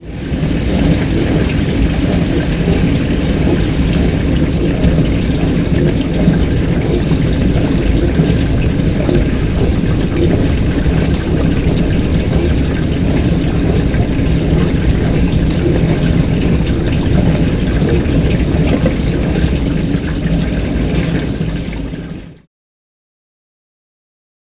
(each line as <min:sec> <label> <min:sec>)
0:07.4 dishwasher-running-close 0:20.1